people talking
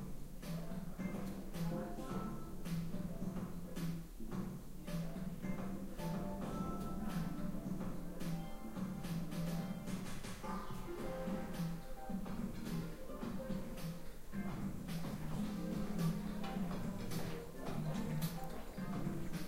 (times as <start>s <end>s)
4.8s 19.4s